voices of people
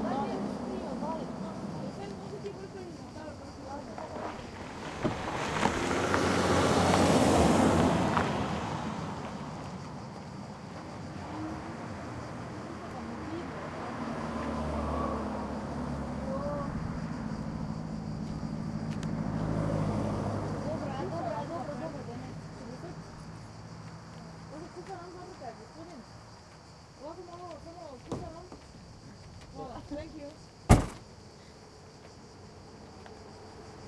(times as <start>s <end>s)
0.0s 5.5s, 10.7s 30.5s